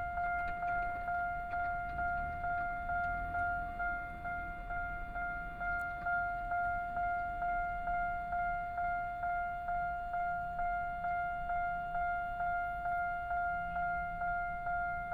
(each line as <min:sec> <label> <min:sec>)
0:00.0 Traffic Sound 0:08.9
0:00.0 Trains traveling through 0:15.1